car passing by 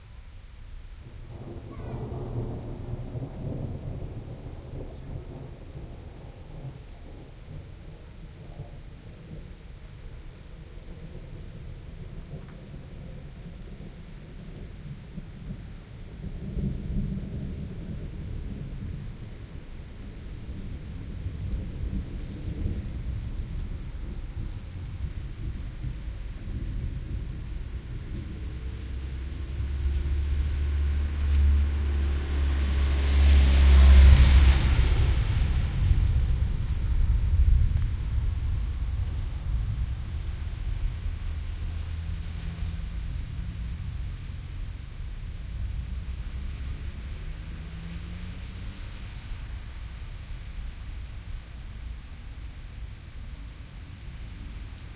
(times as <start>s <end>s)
28.1s 51.4s